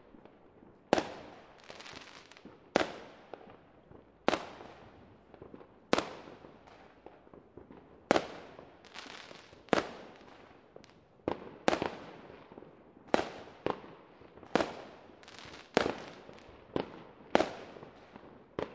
fireworks 0:00.0 - 0:18.7

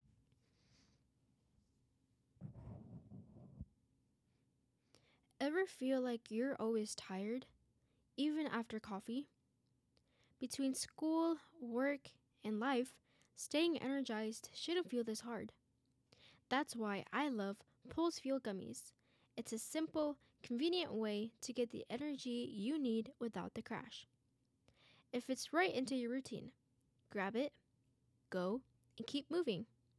Clear English narration 0:05.4 - 0:09.4
Clear English narration 0:10.4 - 0:15.6
Clear English narration 0:16.2 - 0:24.1
Clear English narration 0:24.7 - 0:27.6
Clear English narration 0:28.3 - 0:29.8

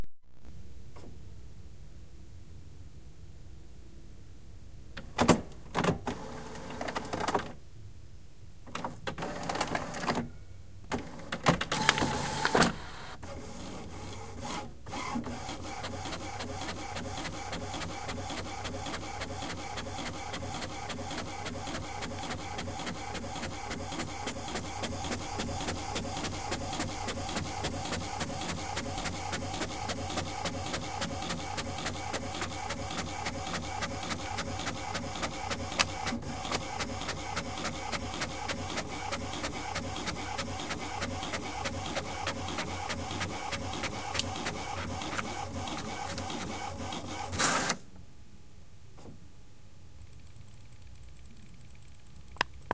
Printing one page 0:05.2 - 0:07.6
Printing one page 0:08.7 - 0:10.3
Printing one page 0:10.9 - 0:47.9

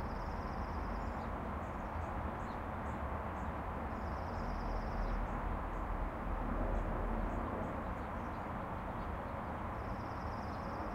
insects 0:00.0 - 0:06.0
insects 0:09.7 - 0:10.9

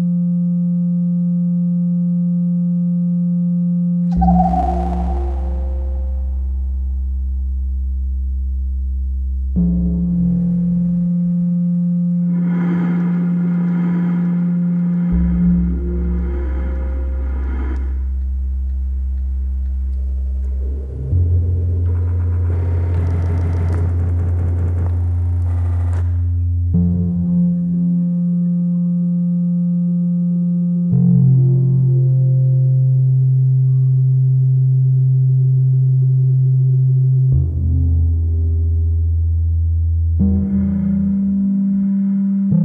synth drone 0:04.1 - 0:07.2
synth drone 0:10.7 - 0:19.0

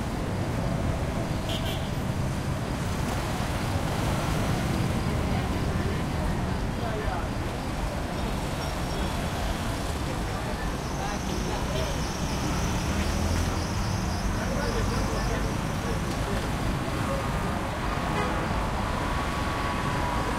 cars 0:00.0 - 0:20.3
people 0:05.2 - 0:17.8

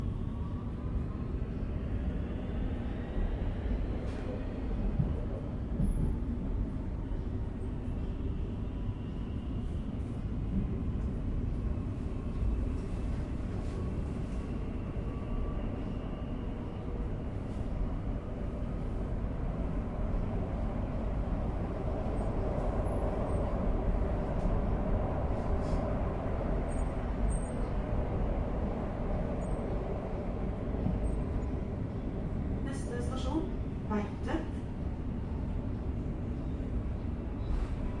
inside Metro’s rail car 0:00.0 - 0:38.0

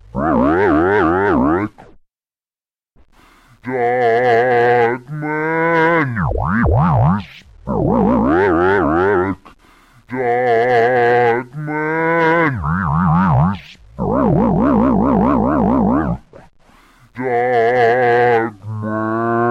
advanced scratching technique 0:06.0 - 0:08.5
advanced scratching technique 0:12.6 - 0:16.5

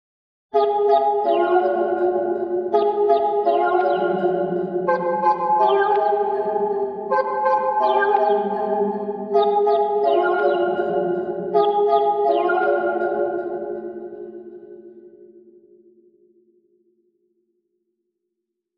playful staccato synth chords with an echo effect 0:00.6 - 0:14.8

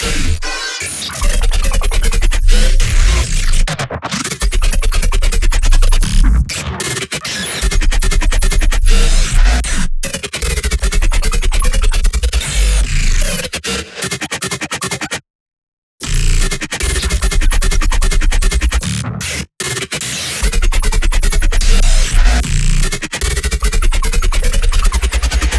drop bass 0:01.2 - 0:03.7
drop bass 0:07.6 - 0:09.8
drop bass 0:20.4 - 0:23.0

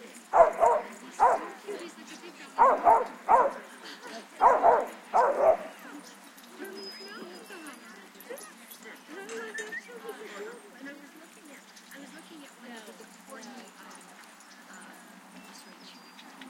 people 0:00.0 - 0:16.4
barking 0:00.3 - 0:01.6
barking 0:02.6 - 0:03.7
barking 0:04.4 - 0:05.8

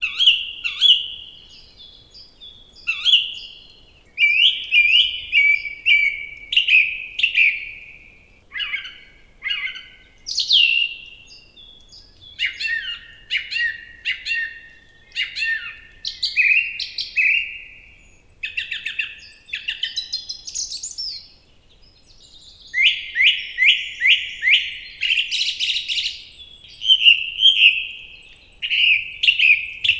birds singing 0:00.0 - 0:29.9

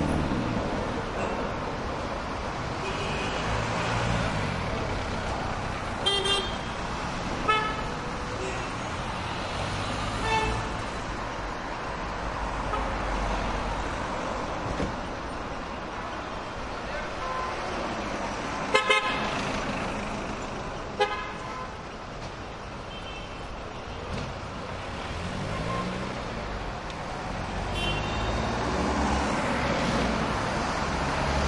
traffic heavy 0:00.0 - 0:31.4
loud horn honks 0:18.7 - 0:19.2
loud horn honks 0:27.7 - 0:28.3

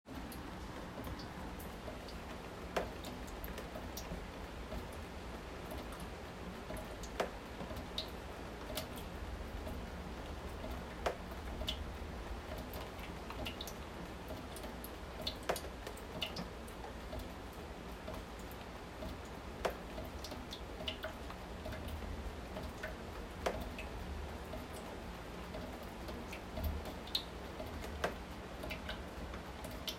Rain 0:00.1 - 0:29.9

